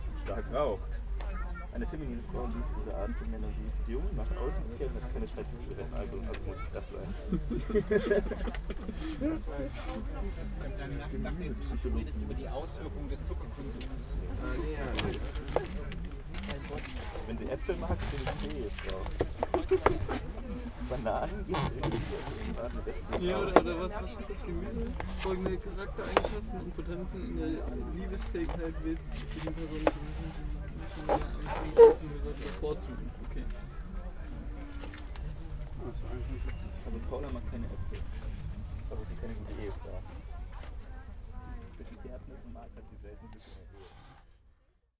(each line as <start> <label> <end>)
1.6 a man reads from a strange book 8.3
9.1 a man reads from a strange book 33.8